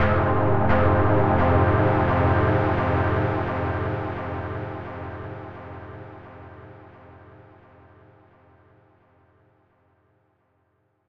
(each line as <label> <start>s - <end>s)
chord 0.0s - 6.8s